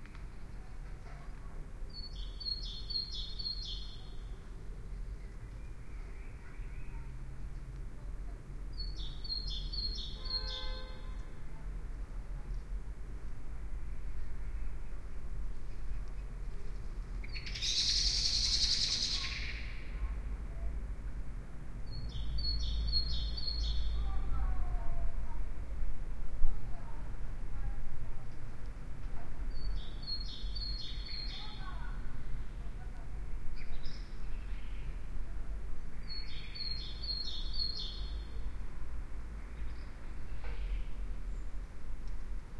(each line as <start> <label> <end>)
1.9 birdsong 7.1
8.7 birdsong 11.3
15.6 birdsong 20.1
21.8 birdsong 24.3
29.5 birdsong 32.0
36.0 birdsong 38.4